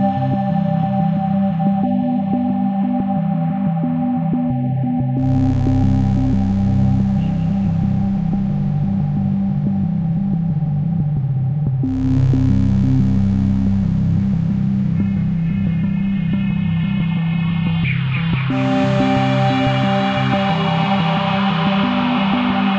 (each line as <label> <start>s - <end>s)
Warm, drifting pads 5.2s - 22.7s